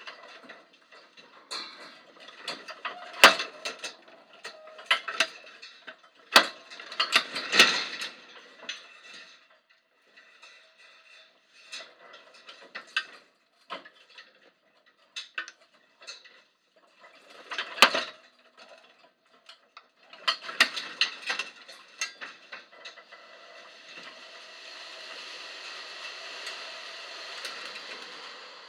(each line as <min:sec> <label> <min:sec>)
0:20.3 chain link fence 0:28.6